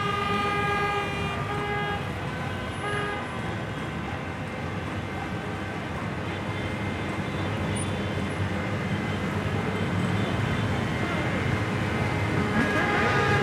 0.0s Demonstrators block traffic 13.4s

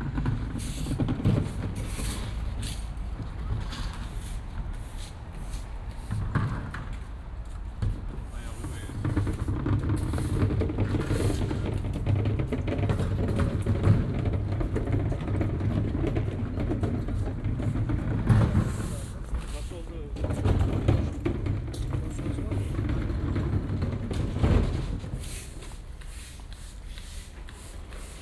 0.0s cleanup after market 28.2s

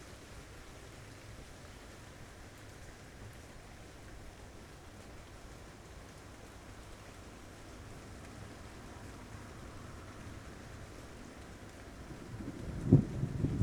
0.0s rain 13.6s
12.2s thunder 13.6s

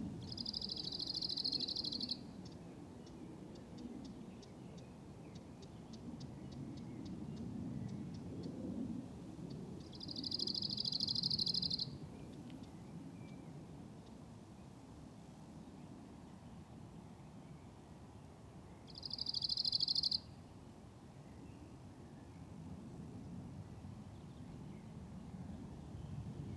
2.3s Airplane 13.8s
21.3s Airplane 26.5s

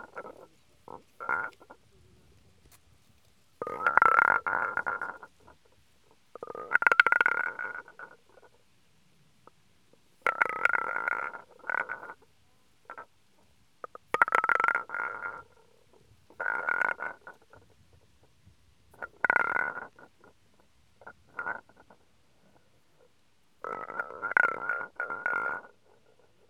0.0s stone, round tongue rolling the the lions mouth 8.6s

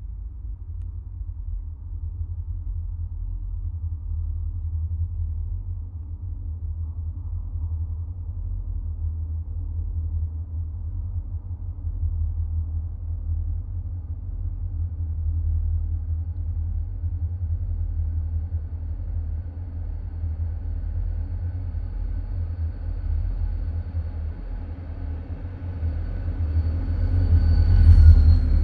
0.0s deep bass drone 28.6s
21.4s train coming out of the tunnel 28.6s

